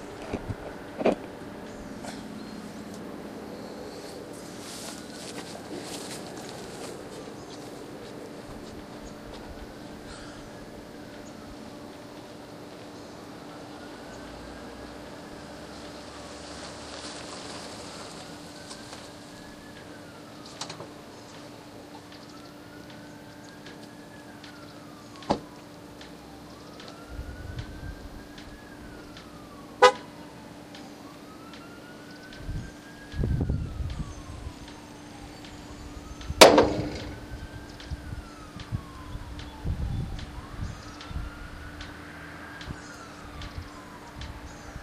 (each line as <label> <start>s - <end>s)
abnormal wind noise 0.0s - 11.9s
abnormal wind noise 26.9s - 30.0s
abnormal wind noise 31.4s - 44.8s